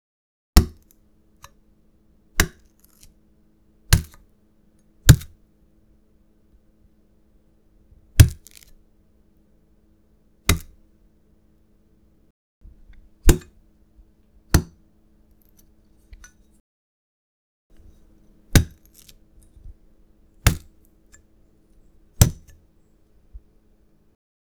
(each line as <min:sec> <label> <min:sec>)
0:00.6 watermelon skin being cut or stabbed with a knife 0:00.9
0:02.4 watermelon skin being cut or stabbed with a knife 0:03.1
0:03.9 watermelon skin being cut or stabbed with a knife 0:04.2
0:05.0 watermelon skin being cut or stabbed with a knife 0:05.4
0:08.2 watermelon skin being cut or stabbed with a knife 0:08.8
0:10.5 watermelon skin being cut or stabbed with a knife 0:10.8
0:13.2 watermelon skin being cut or stabbed with a knife 0:13.5
0:14.5 watermelon skin being cut or stabbed with a knife 0:14.8
0:17.8 watermelon skin being cut or stabbed with a knife 0:19.8
0:20.4 watermelon skin being cut or stabbed with a knife 0:20.8
0:22.2 watermelon skin being cut or stabbed with a knife 0:22.6